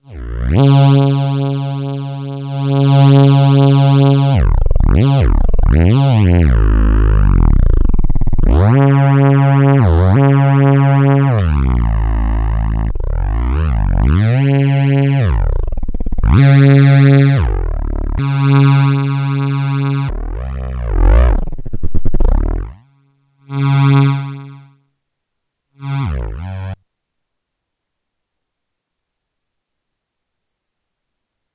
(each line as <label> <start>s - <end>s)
Virtual theremin sounds 14.9s - 22.8s
Virtual theremin sounds 25.8s - 26.8s